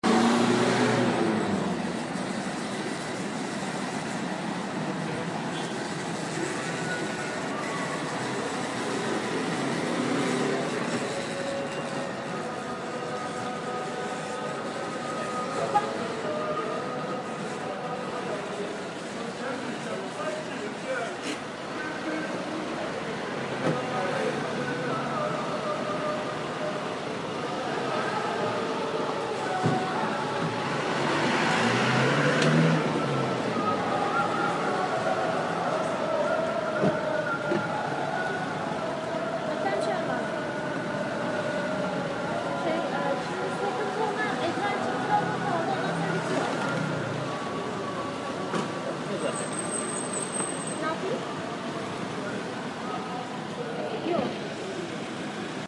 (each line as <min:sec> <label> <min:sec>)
0:00.0 Street sound 0:55.6